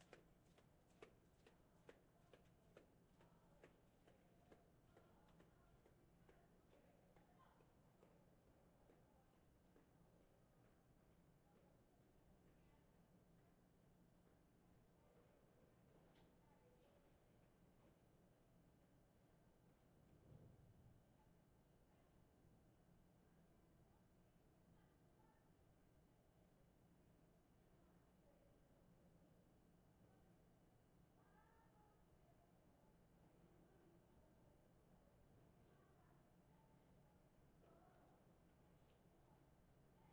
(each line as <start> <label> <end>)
0.0 distant kids in their classrooms 40.1
0.0 occasional voice in the hallway 40.1